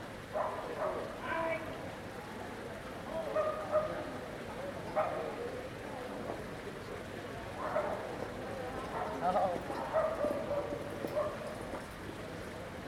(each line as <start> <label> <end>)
0.0 German tourists 12.8
0.0 fountain 12.8
0.3 stray dogs 1.1
3.3 stray dogs 4.0
8.9 stray dogs 11.6